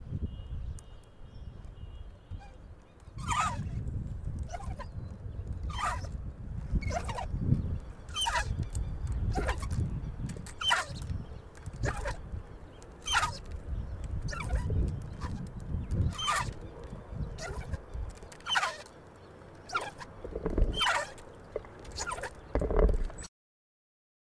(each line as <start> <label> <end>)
2.4 Swinging on a park swing 23.3